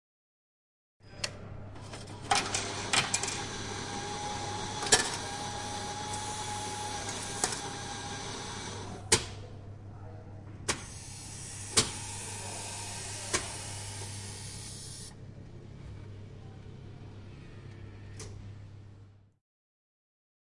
Coffe machine 0:01.8 - 0:09.3
Coffe machine 0:10.7 - 0:15.1

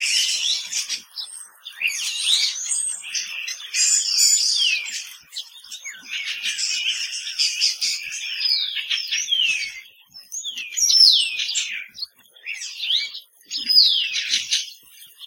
Birds 0:00.0 - 0:15.2

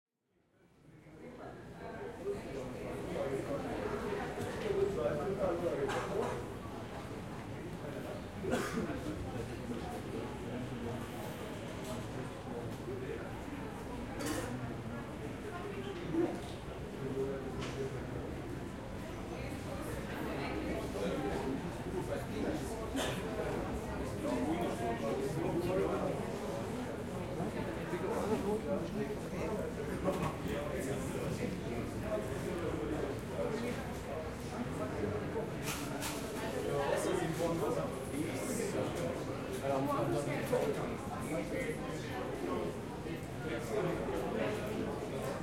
people walking and talking 0:00.4 - 0:45.4

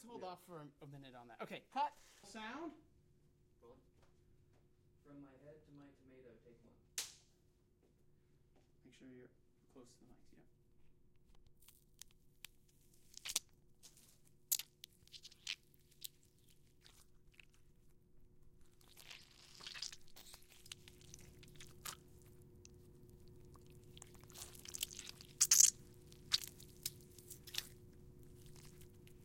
gore effects 0:18.9 - 0:22.0
gore effects 0:23.6 - 0:26.7

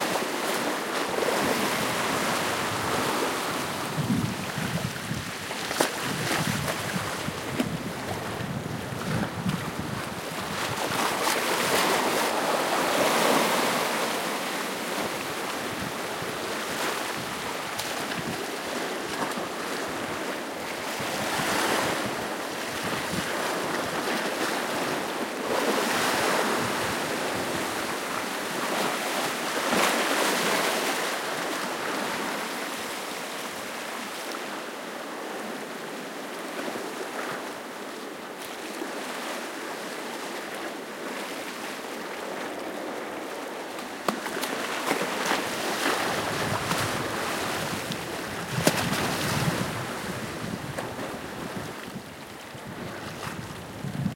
Waves lapping and smacking against concrete wall 0:00.0 - 0:34.6
wind noise 0:01.1 - 0:12.2
wind noise 0:20.9 - 0:24.0
Waves lapping and smacking against concrete wall 0:36.5 - 0:54.1
wind noise 0:45.5 - 0:54.1

